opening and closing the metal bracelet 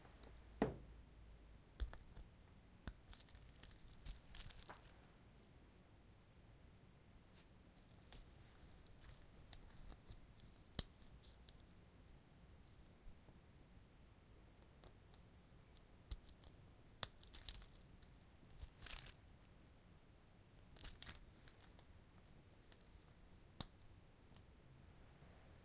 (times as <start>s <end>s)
2.9s 5.0s, 7.8s 11.6s, 16.1s 19.3s, 20.6s 24.5s